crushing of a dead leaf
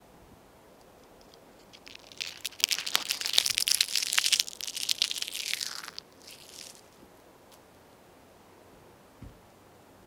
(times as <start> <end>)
1.6 7.0